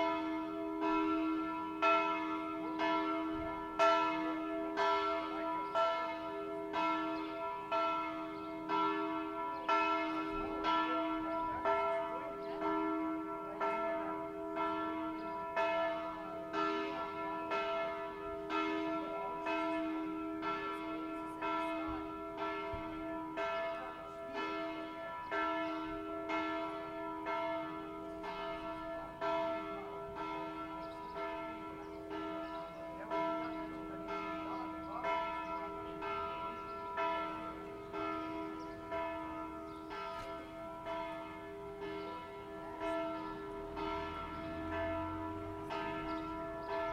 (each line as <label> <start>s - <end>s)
Church bells 0.0s - 46.9s
Birds (common house martin) singing 2.2s - 3.5s
Birds (common house martin) singing 5.0s - 13.2s
Birds (common house martin) singing 14.7s - 20.0s
Birds (common house martin) singing 23.4s - 29.6s
Birds (common house martin) singing 30.2s - 46.9s